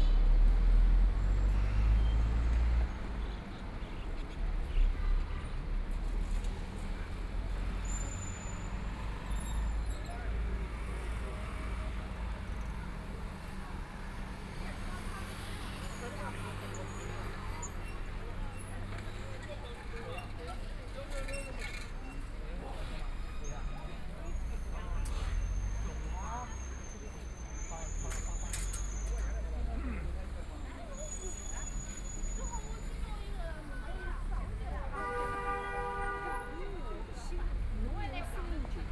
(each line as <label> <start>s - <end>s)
Traffic Sound 0.0s - 38.9s
crowd 0.0s - 38.9s